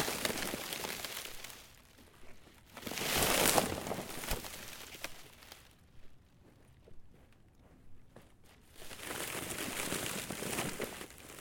Frozen tarp 0:00.0 - 0:05.8
Crunch 0:00.0 - 0:11.4
Frozen tarp 0:08.6 - 0:11.4
ice creaks 0:08.9 - 0:11.4

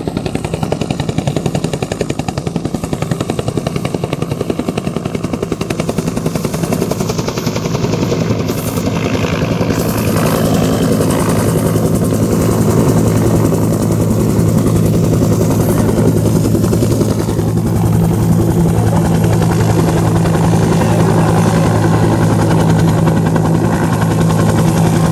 helecopter 0:00.0 - 0:25.1
wind 0:00.0 - 0:25.1

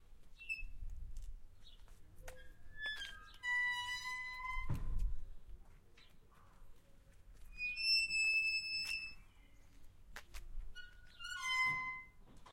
Opening and closing a rusty gate 0:00.4 - 0:00.8
Opening and closing a rusty gate 0:02.3 - 0:05.3
Opening and closing a rusty gate 0:07.5 - 0:09.3
Opening and closing a rusty gate 0:10.7 - 0:12.5

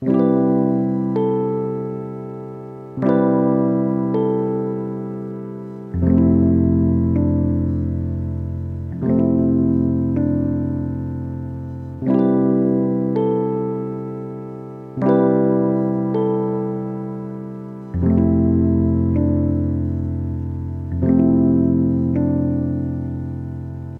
Keyboard / Rhodes 0:00.0 - 0:23.9

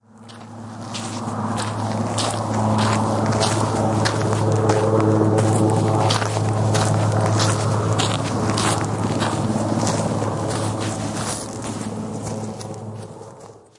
helicopter overheading 0:00.0 - 0:13.7
footsteps along a dirt road 0:00.0 - 0:13.7

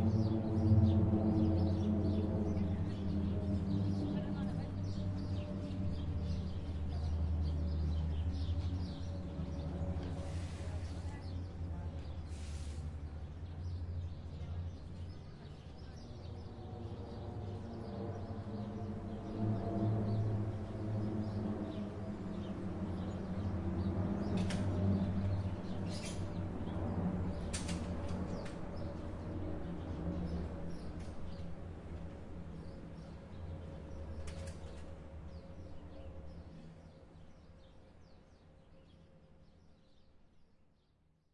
Military Aircrafts 0:00.0 - 0:40.2
Birds 0:00.0 - 0:40.9

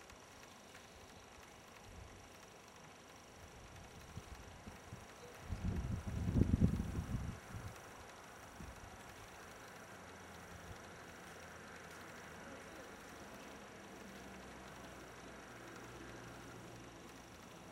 bird is singing not very far away 0:05.1 - 0:05.8

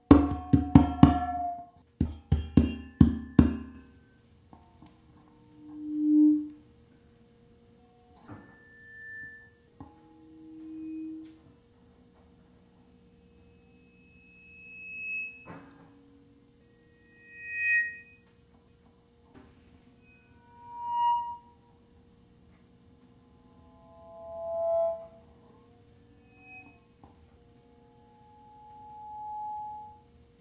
PA microphone feedback 0:05.2 - 0:06.8
PA microphone feedback 0:07.6 - 0:11.7
PA microphone feedback 0:12.9 - 0:18.4
PA microphone feedback 0:19.8 - 0:21.9
PA microphone feedback 0:23.2 - 0:30.2

